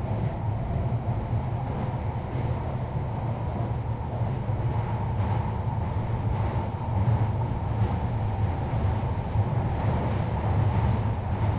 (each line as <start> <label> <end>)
0.0 Travelling on the London Underground 11.5